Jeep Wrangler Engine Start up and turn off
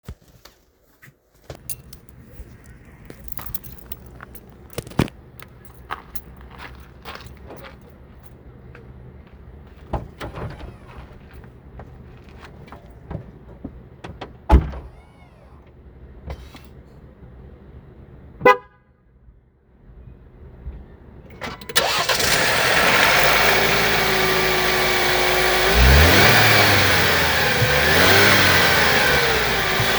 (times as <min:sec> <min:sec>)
0:21.2 0:29.9